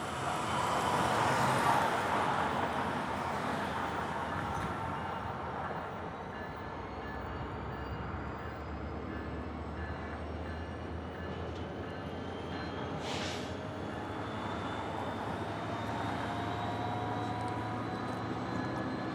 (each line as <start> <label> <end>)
0.0 trains can be heard 19.1
8.4 forming a train 19.1